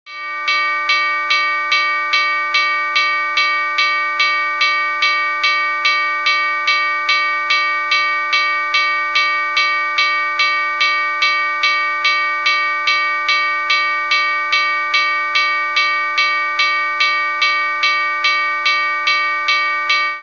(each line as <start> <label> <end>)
0.1 bell 20.2